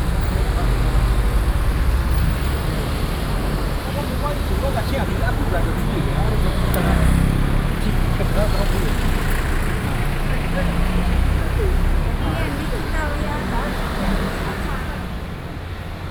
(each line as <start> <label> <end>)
0.0 Traffic Sound 16.1